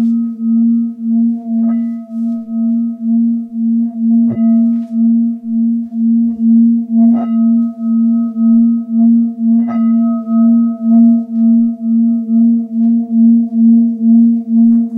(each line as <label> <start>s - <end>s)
singing bowl played with the leather part of the mallet 0.0s - 14.9s